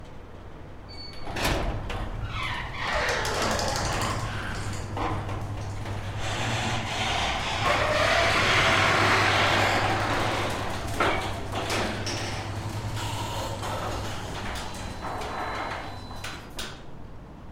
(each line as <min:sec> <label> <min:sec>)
0:00.9 Old Garage Door Opening 0:17.0